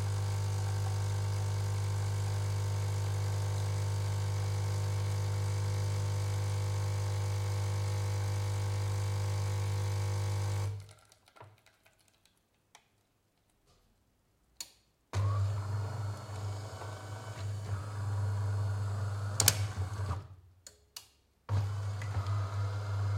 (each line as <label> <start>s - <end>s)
Espresso machine 0.0s - 10.8s
Espresso machine 15.2s - 20.2s
Espresso machine 21.5s - 23.1s